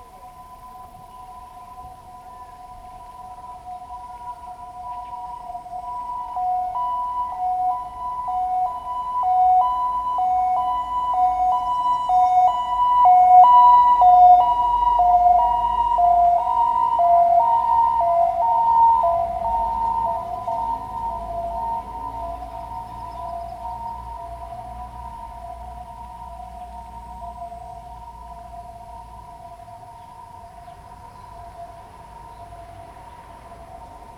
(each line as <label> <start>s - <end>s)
ambulance 0.0s - 34.1s
traffic sound 0.0s - 34.1s